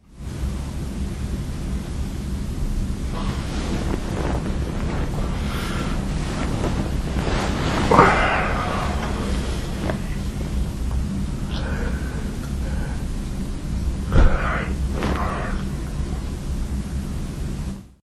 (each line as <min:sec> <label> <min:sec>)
0:00.2 Moving while I sleep 0:17.8
0:05.3 breath 0:06.1
0:11.5 breath 0:13.4
0:14.1 breath 0:15.7